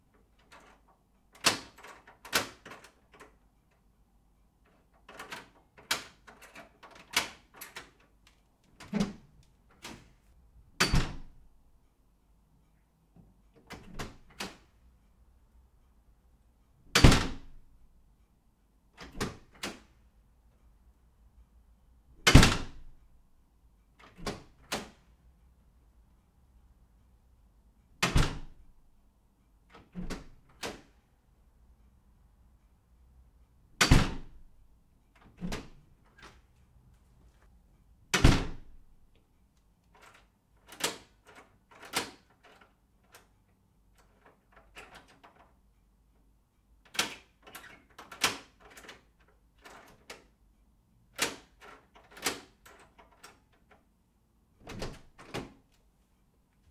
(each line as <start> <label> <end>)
0.1 Lock 3.9
4.6 Lock 10.1
8.7 Door Open and Close 10.2
10.8 Door Open and Close 11.4
10.8 Lock 11.5
13.6 Door Open and Close 14.7
13.6 Lock 14.7
16.8 Lock 17.7
16.9 Door Open and Close 17.6
19.0 Door Open and Close 19.9
19.0 Lock 20.0
22.2 Door Open and Close 23.0
24.0 Door Open and Close 25.0
24.0 Lock 25.0
28.0 Door Open and Close 28.6
29.7 Lock 31.0
29.8 Door Open and Close 31.0
33.7 Lock 34.5
33.8 Door Open and Close 34.5
35.1 Lock 36.4
35.2 Door Open and Close 36.4
38.1 Door Open and Close 38.9
38.1 Lock 38.9
39.8 Lock 45.6
40.0 Door Open and Close 43.3
46.8 Lock 50.4
51.1 Lock 53.9
51.2 Door Open and Close 53.8
54.6 Door Open and Close 55.7
54.6 Lock 55.7